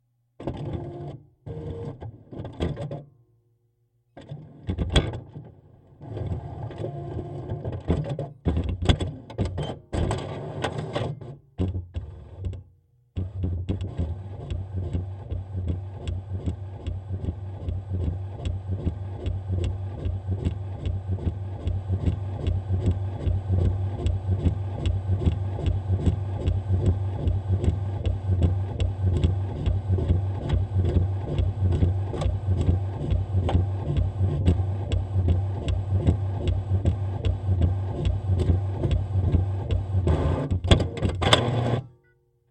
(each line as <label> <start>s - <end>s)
Printing a test page 13.2s - 41.9s